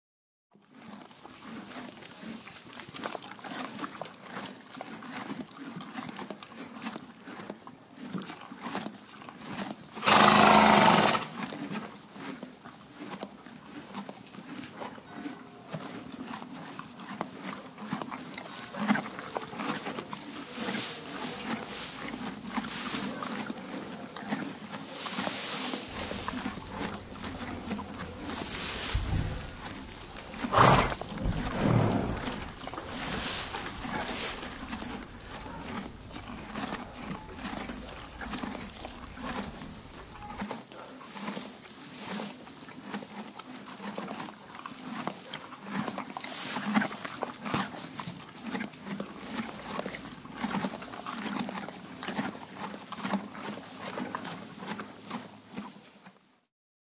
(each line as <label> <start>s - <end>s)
eating 0.8s - 41.5s
eating 42.8s - 55.6s